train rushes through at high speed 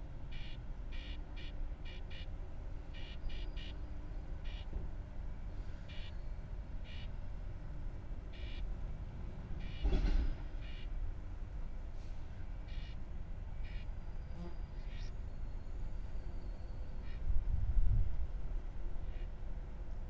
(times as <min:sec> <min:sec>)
0:08.8 0:12.6